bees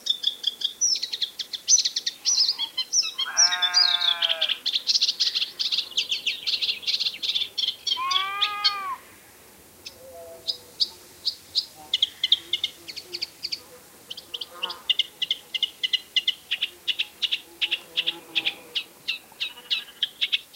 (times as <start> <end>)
9.8 20.5